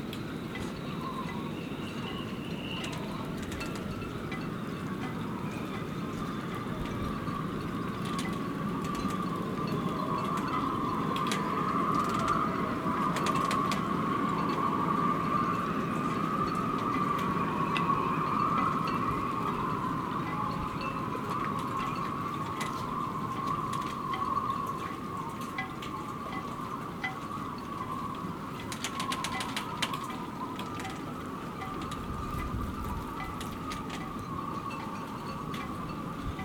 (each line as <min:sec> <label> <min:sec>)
0:00.0 singing ropes 0:36.4
0:00.0 strong wind 0:36.4